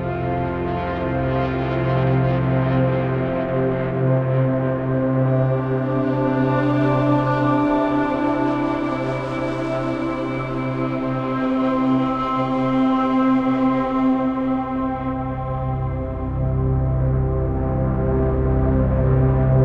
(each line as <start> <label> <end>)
0.0 synthesizer 19.6